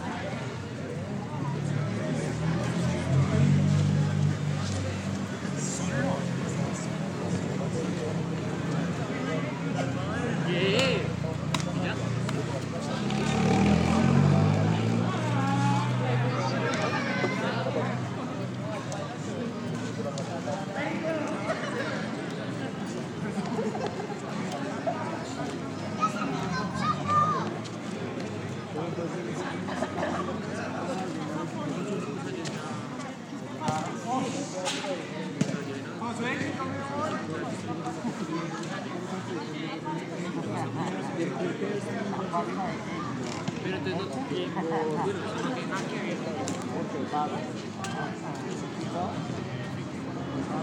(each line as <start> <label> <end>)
0.0 cars and motorcycles are heard circulating 50.6
0.0 people talking 50.6